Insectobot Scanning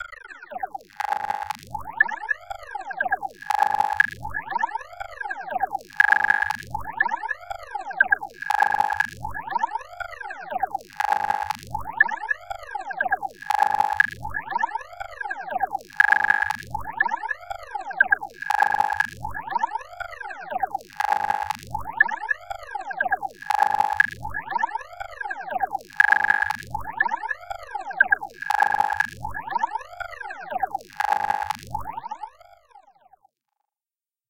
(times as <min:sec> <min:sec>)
0:05.9 0:07.4, 0:14.9 0:22.4, 0:23.0 0:31.6